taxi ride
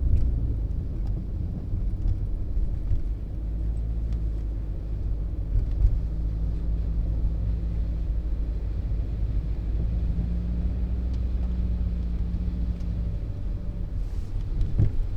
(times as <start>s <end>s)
12.0s 15.1s